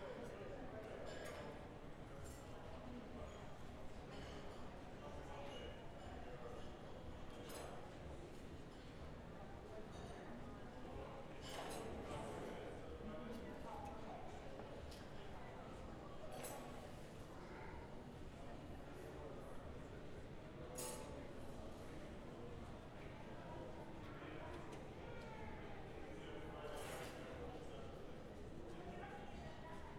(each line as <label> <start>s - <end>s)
people walking in the corridor 0.0s - 29.9s